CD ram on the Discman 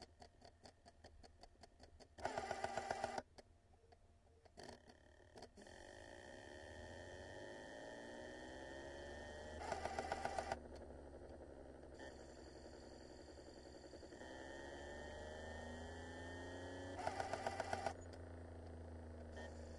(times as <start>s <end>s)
2.2s 3.2s, 9.6s 11.4s, 17.0s 19.7s